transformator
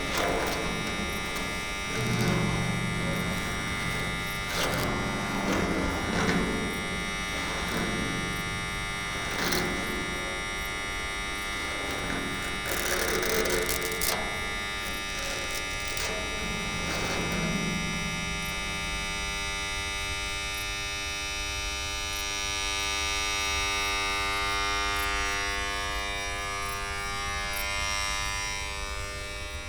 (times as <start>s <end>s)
0.0s 19.7s